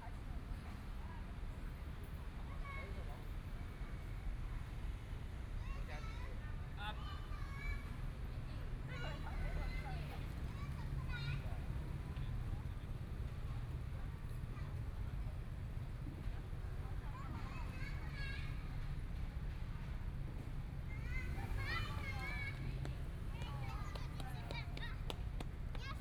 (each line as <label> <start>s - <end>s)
Traffic Sound 7.3s - 26.0s